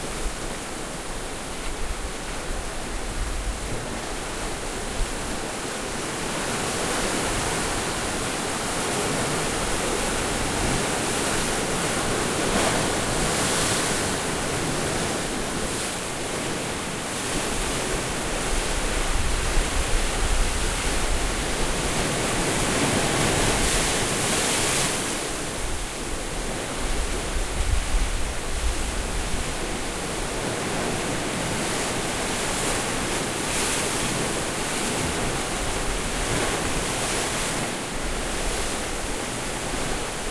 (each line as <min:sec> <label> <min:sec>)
0:00.0 ocean waves crashing and misting 0:40.3